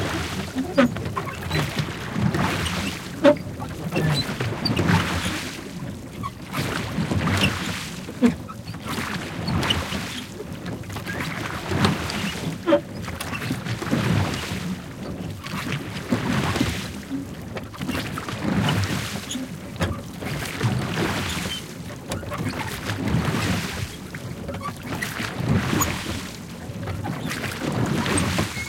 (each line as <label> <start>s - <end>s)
fast rowing 0.0s - 28.6s